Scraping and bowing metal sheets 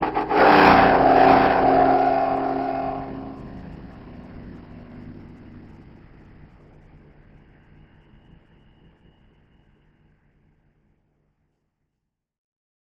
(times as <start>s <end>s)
0.0s 5.8s